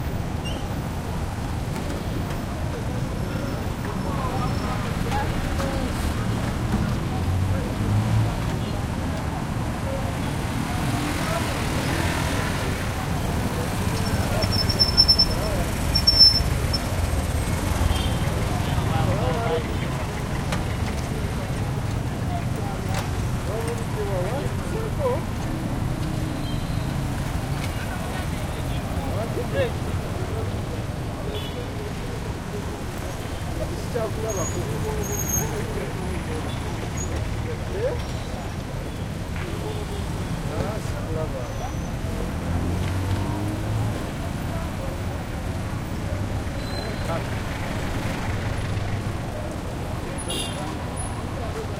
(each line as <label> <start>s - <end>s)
motorcycles 0.2s - 51.7s
people 1.6s - 51.7s
throaty cars 31.8s - 51.7s